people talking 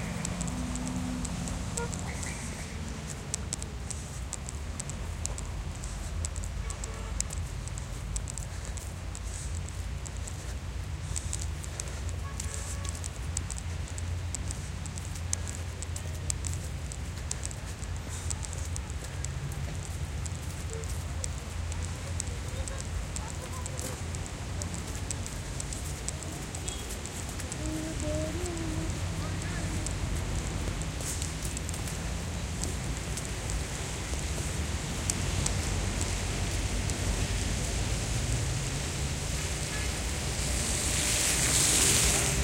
17.5s 30.6s

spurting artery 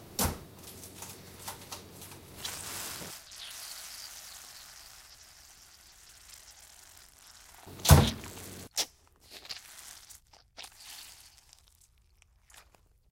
2.4s 11.6s

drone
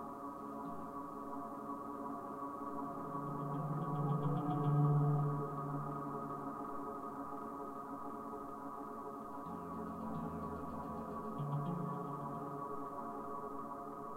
2.7s 8.4s, 9.5s 14.1s

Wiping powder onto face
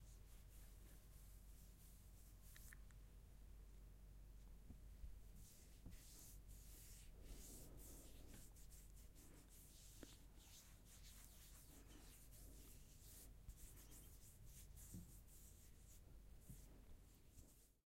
5.4s 16.7s

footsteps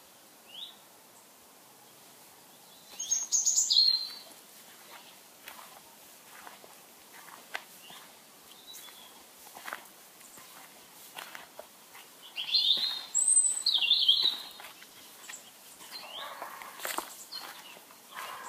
4.0s 18.4s

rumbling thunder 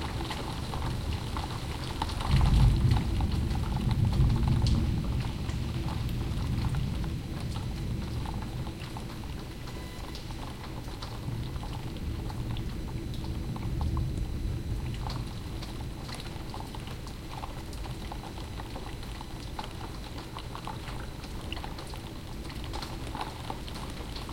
2.2s 7.1s

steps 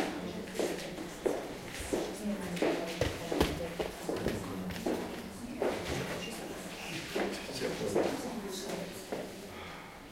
0.6s 6.2s

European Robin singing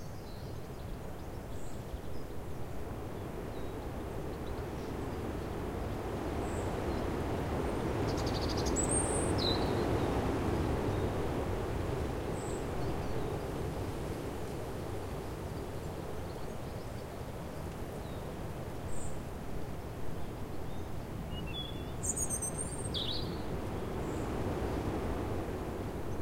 8.1s 10.0s, 20.7s 24.3s

